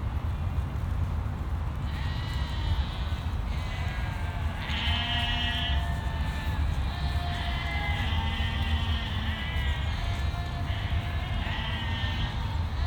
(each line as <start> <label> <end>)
1.8 sheep 12.8